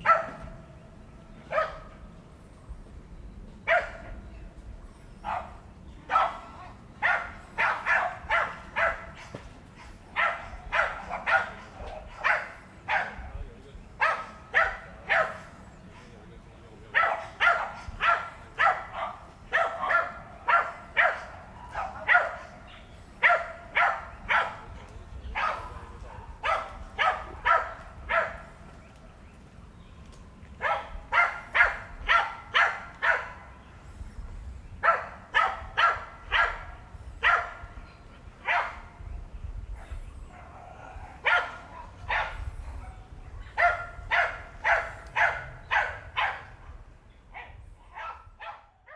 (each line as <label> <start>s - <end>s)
Dogs barking 0.0s - 0.6s
Dogs barking 1.5s - 1.9s
Dogs barking 3.7s - 4.2s
Dogs barking 5.2s - 13.3s
Dogs barking 13.9s - 15.6s
Dogs barking 16.9s - 28.7s
Dogs barking 30.6s - 33.6s
Dogs barking 34.7s - 37.8s
Dogs barking 38.4s - 39.1s
Dogs barking 39.8s - 46.6s
Dogs barking 47.4s - 48.9s